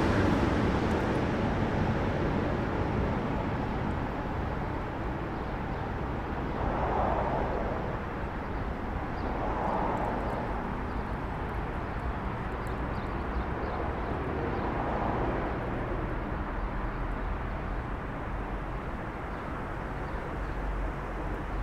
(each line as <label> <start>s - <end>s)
car traffic on a sunken road 0.0s - 21.6s
train 0.0s - 21.6s